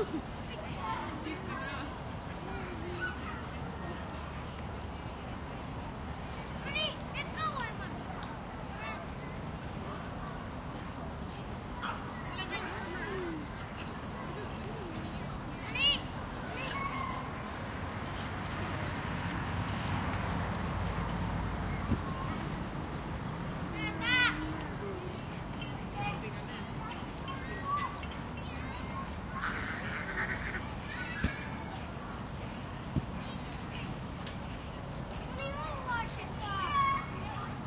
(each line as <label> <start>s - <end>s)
Voices 0.0s - 37.6s
wind 0.0s - 37.6s
children are playing football 6.5s - 25.2s
children are playing football 25.9s - 34.4s